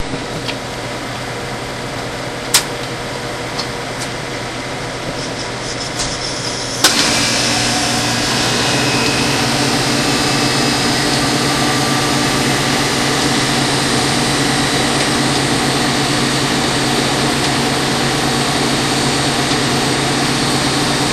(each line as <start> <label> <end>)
5.0 slurpy machine in action 21.1